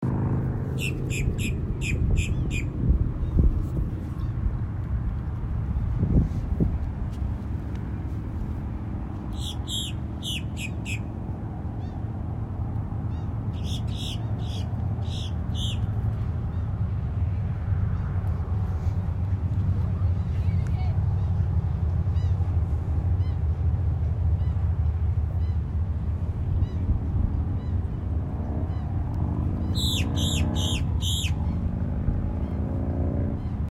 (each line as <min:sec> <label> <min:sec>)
0:00.7 birds 0:04.4
0:09.2 birds 0:12.1
0:13.0 birds 0:16.8
0:18.6 waves 0:28.1
0:27.5 birds 0:33.7